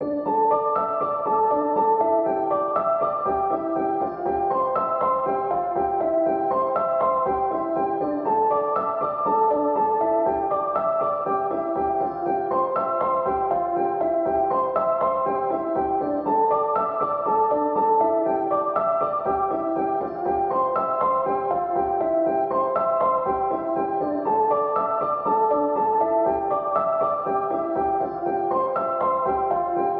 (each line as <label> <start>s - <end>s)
piano 0.0s - 29.9s